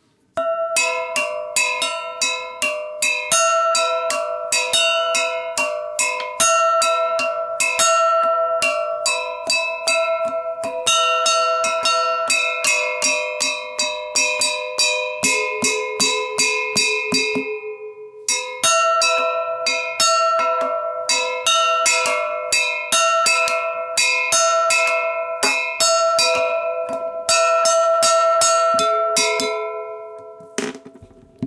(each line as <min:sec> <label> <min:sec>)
0:00.4 Bell 0:30.7